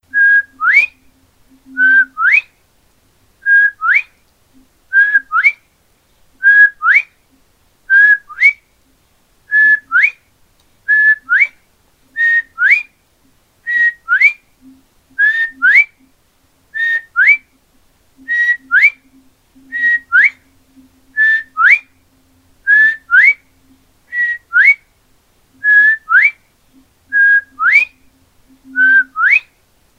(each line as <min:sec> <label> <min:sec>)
0:07.9 Bird Call, Bobwhite 0:08.6
0:10.9 Bird Call, Bobwhite 0:13.0
0:13.7 Bird Call, Bobwhite 0:16.1
0:16.7 Bird Call, Bobwhite 0:17.6
0:18.2 Bird Call, Bobwhite 0:22.0
0:22.6 Bird Call, Bobwhite 0:24.8
0:25.6 Bird Call, Bobwhite 0:29.6